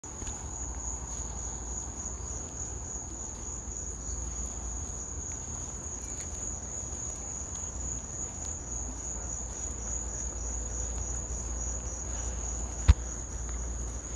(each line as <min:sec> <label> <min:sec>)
0:00.0 cricket 0:14.1
0:00.1 Insects (I think cicadas) chirping 0:14.1